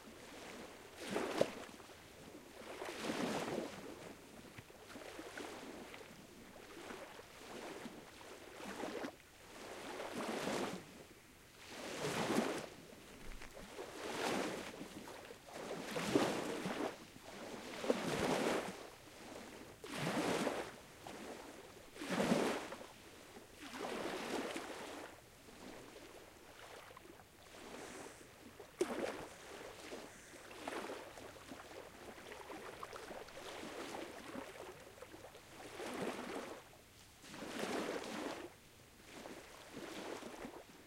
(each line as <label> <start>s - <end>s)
waves 0.0s - 40.8s